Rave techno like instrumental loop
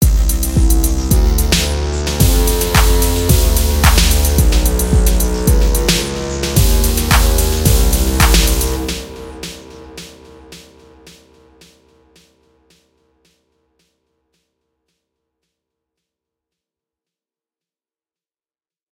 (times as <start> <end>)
0.0 11.9